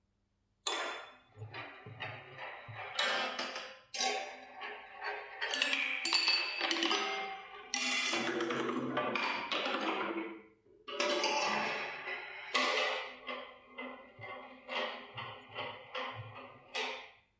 balls on a kinetic structure 0:11.2 - 0:17.3

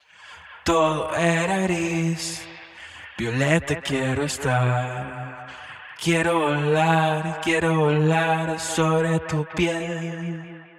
Acapella Spanish Latin America Vocal 0:00.2 - 0:10.5

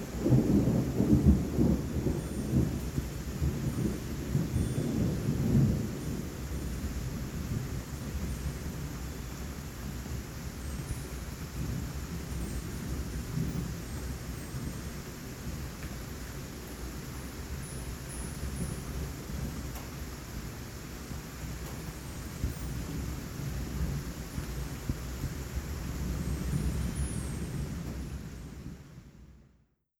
Thunder rumbling 0:00.0 - 0:08.9
wind chimes in distance 0:01.8 - 0:15.8
wind chimes in distance 0:17.4 - 0:19.8
Thunder rumbling 0:21.1 - 0:29.2
wind chimes in distance 0:21.8 - 0:23.3
wind chimes in distance 0:26.0 - 0:28.8

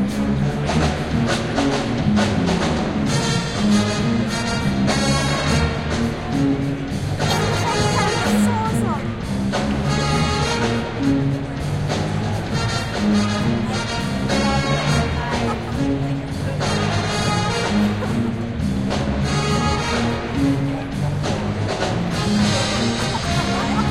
bad plays Herbie Hancock 0:00.0 - 0:23.9

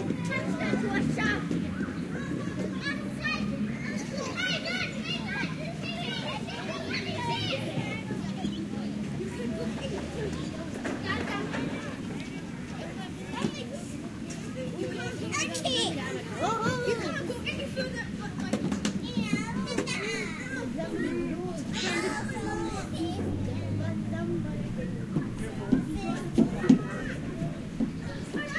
Kids 0:00.0 - 0:28.5

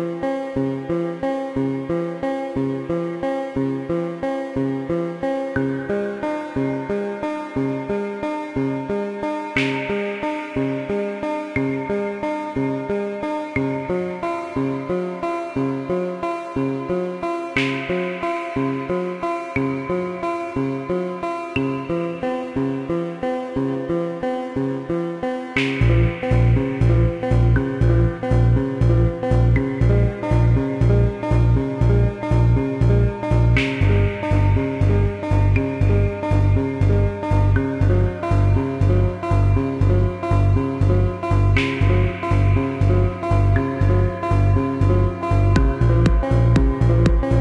bass 0:00.0 - 0:25.0
synth 0:00.0 - 0:47.4
Electronic Harp 0:25.6 - 0:47.4
bass 0:25.6 - 0:47.4
percussion loop 0:45.6 - 0:47.4

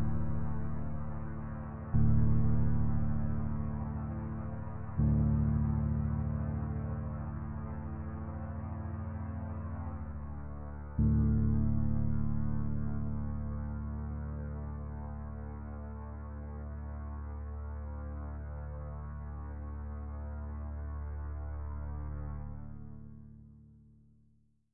bass 0:00.0 - 0:24.7

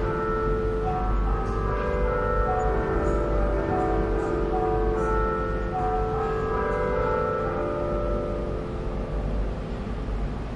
church bell 0:00.0 - 0:10.5

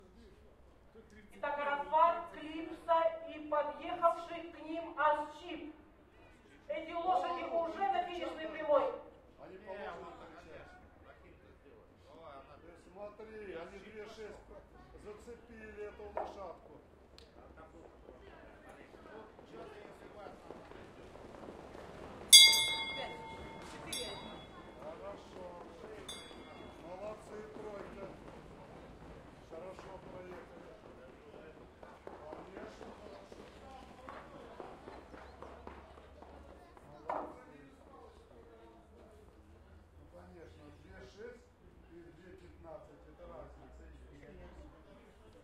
bell 0:22.3 - 0:24.9
bell 0:26.1 - 0:27.0

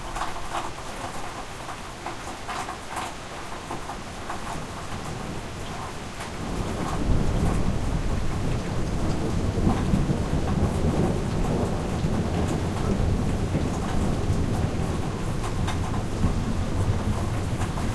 Rain in Drainpipe 0:00.0 - 0:17.9
Thunder 0:06.4 - 0:17.9

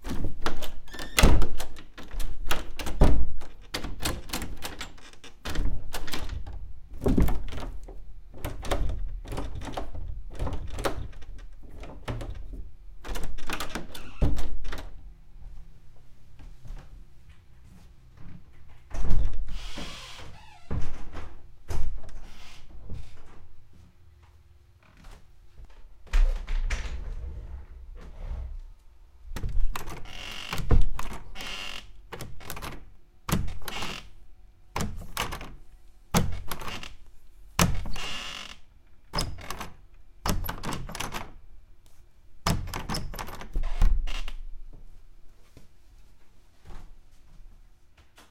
unlock an old creaking wooden door 0:00.0 - 0:15.0
unlock an old creaking wooden door 0:18.8 - 0:23.4
unlock an old creaking wooden door 0:24.8 - 0:25.2
unlock an old creaking wooden door 0:29.3 - 0:35.6
unlock an old creaking wooden door 0:36.2 - 0:37.0
unlock an old creaking wooden door 0:37.6 - 0:41.4
unlock an old creaking wooden door 0:42.4 - 0:44.5

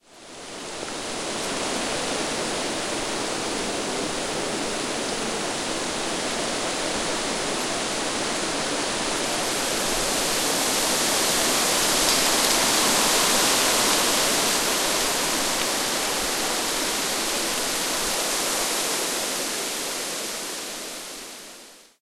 Wind blowing through the trees 0:00.0 - 0:22.0

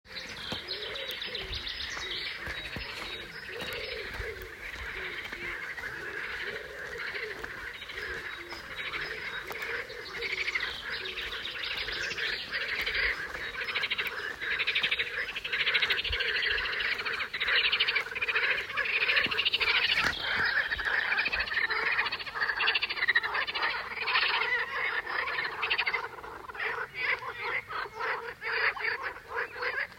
walking 0:00.1 - 0:23.8
birds 0:00.1 - 0:29.9
frogs croaking 0:00.1 - 0:29.9

